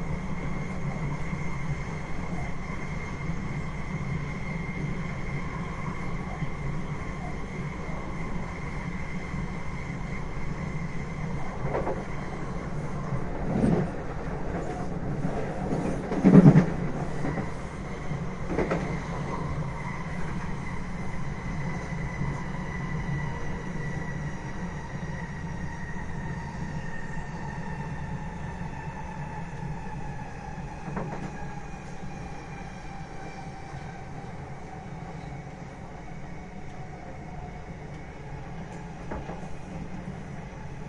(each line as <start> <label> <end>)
0.0 Underground train ride 40.8